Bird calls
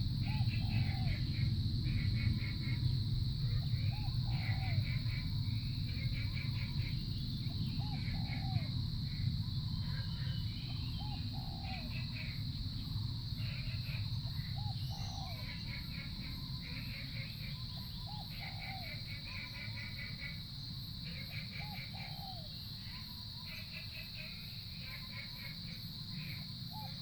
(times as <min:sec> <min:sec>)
0:09.8 0:20.0